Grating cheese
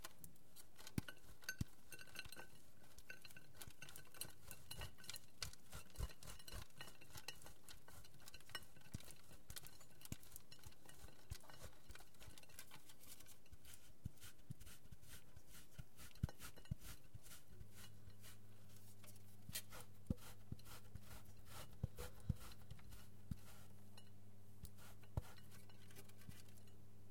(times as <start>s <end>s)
2.8s 12.8s, 13.6s 18.4s, 19.6s 23.7s